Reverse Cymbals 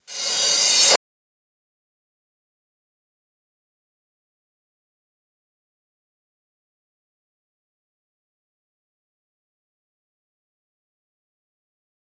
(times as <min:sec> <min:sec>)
0:00.0 0:01.0